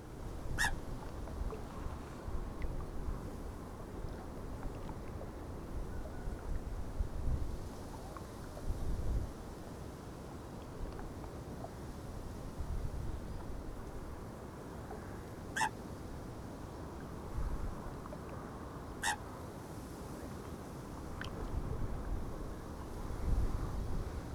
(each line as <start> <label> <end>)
0.6 coot 0.8
15.6 coot 15.8